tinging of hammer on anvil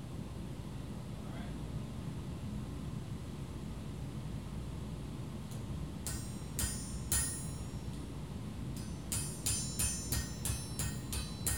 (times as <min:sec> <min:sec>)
0:06.0 0:08.1, 0:08.7 0:11.5